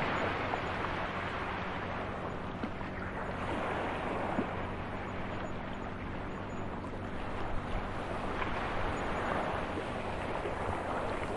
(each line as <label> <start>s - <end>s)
Light sea with rocks 0.0s - 11.3s
motorboats in the background 0.0s - 11.3s